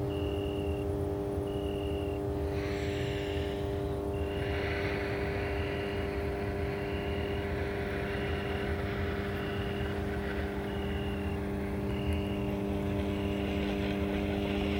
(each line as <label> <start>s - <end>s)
cricket 0.0s - 14.7s
electric transformer station 0.0s - 14.7s
traffic 4.2s - 14.7s